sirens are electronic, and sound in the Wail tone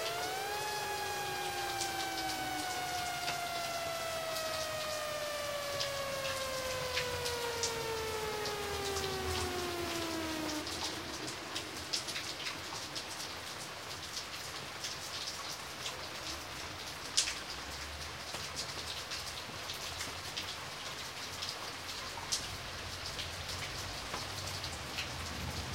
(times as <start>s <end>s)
0.0s 13.7s